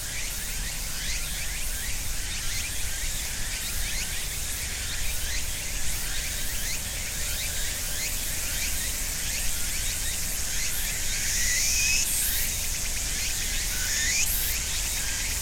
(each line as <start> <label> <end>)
0.0 Cicadas 15.4
0.0 other insects 15.4